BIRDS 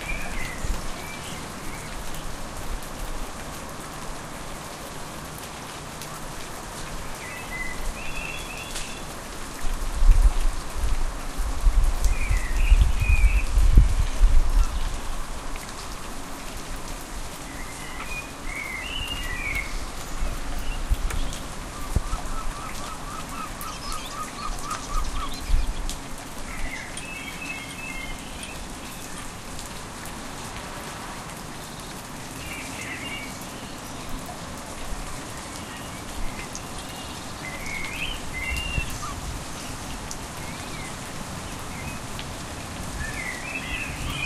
20.6 25.8

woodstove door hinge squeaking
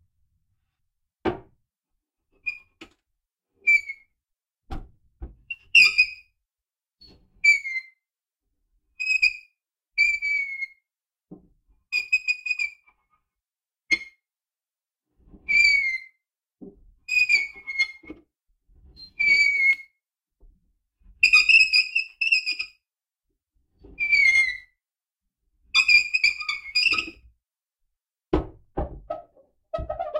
29.1 30.1

